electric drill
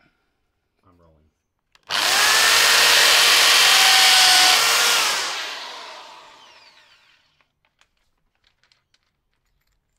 0:01.9 0:07.4

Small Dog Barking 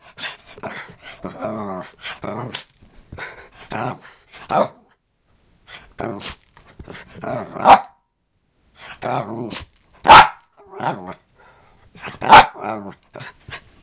0:07.6 0:08.0, 0:10.0 0:10.4, 0:12.2 0:12.6

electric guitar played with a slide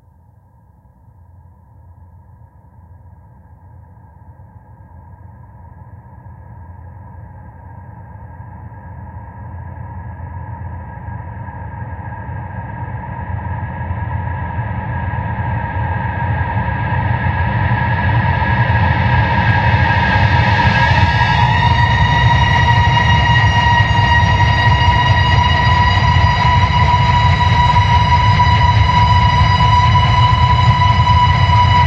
0:19.7 0:31.8

